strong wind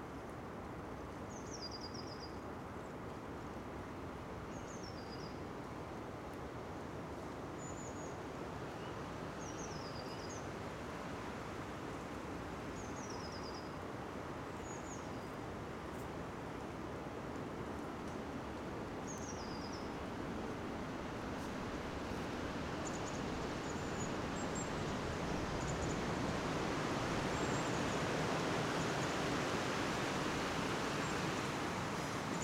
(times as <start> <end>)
18.3 32.4